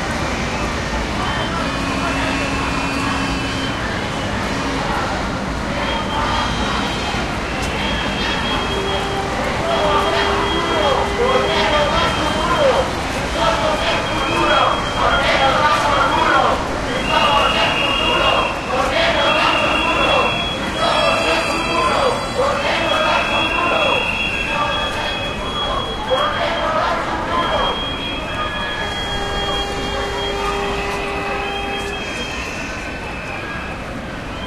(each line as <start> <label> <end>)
0.0 city noise 34.4
2.6 whistling 4.4
7.6 people shouting slogans 30.4
27.4 whistling 34.4